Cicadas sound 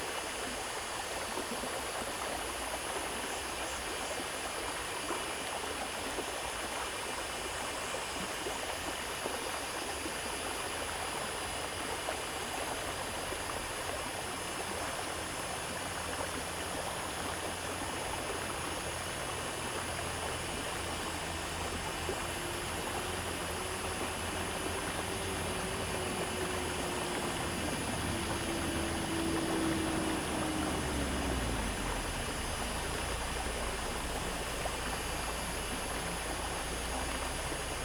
12.7 37.8

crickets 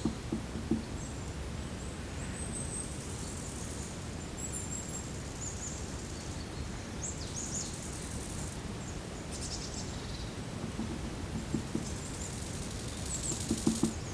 11.4 14.1

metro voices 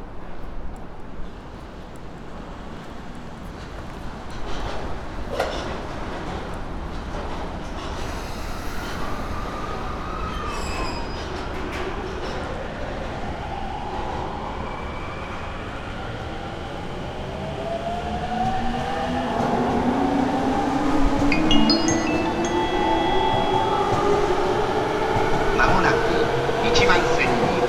18.4 27.6

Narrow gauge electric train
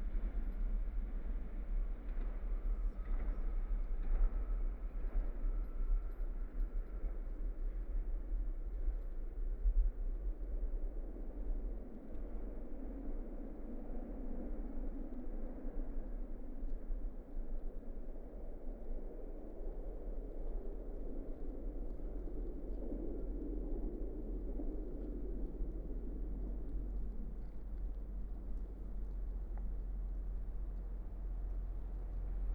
0.0 8.9, 21.3 32.5

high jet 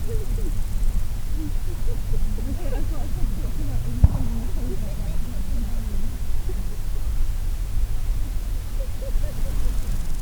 1.5 7.8

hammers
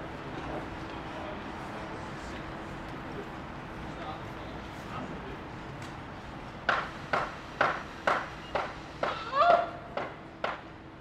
6.7 9.2, 10.0 10.7

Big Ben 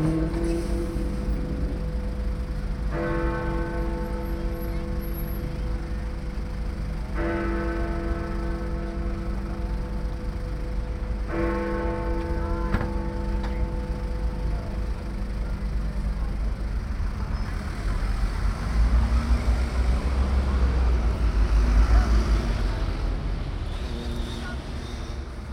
0.0 17.3

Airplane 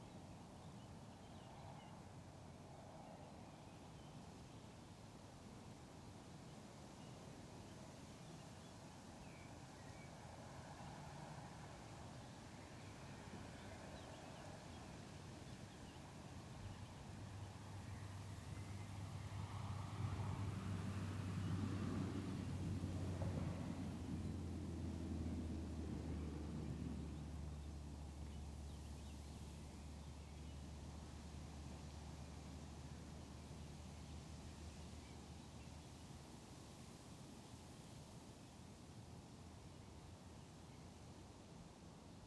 16.6 34.3

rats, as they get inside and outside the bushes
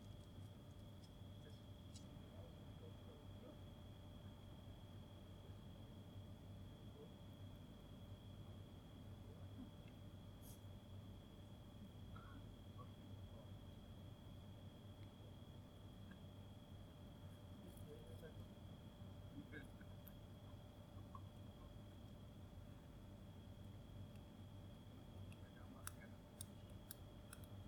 0.0 2.3

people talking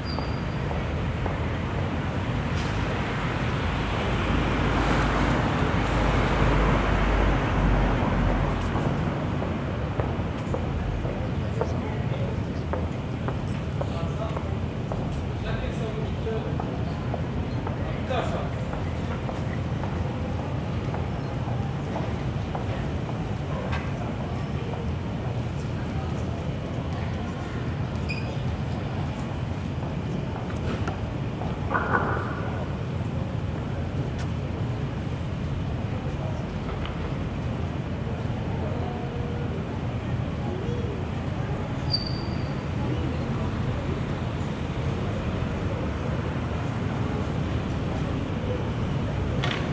10.0 31.6, 35.6 42.0, 42.6 49.7

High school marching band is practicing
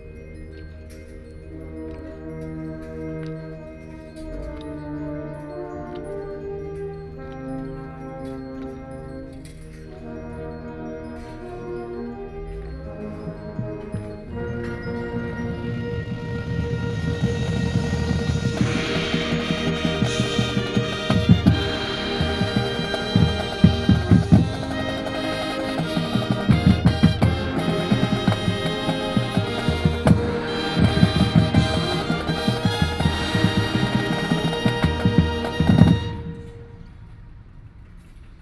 12.9 36.8

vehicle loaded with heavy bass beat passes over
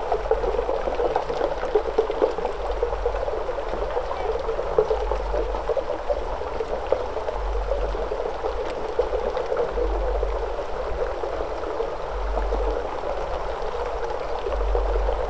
5.1 15.2

